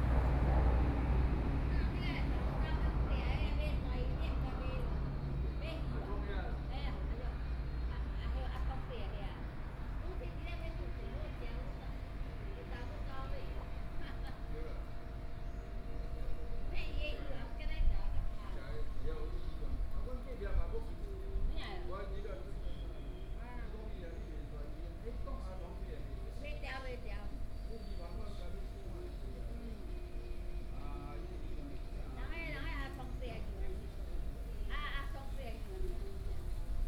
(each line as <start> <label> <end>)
0.0 Traffic Sound 6.0